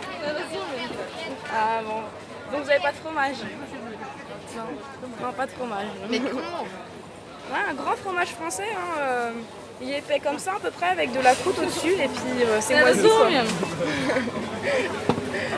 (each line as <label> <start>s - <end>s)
dialogues between urban customers and farmers 0.0s - 15.5s